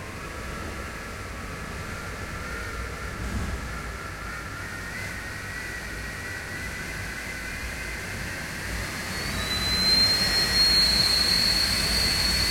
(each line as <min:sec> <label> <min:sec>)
0:00.0 strong wind 0:12.5
0:00.0 wind passed through the gap of my windows 0:12.5